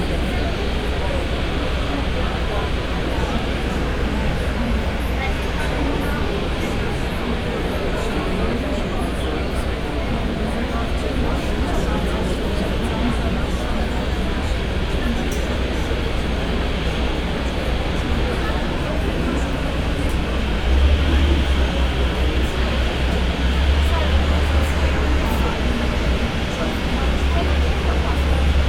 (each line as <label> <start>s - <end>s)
boarding crowd 0.0s - 28.6s
three planes starting at the same time 14.4s - 28.6s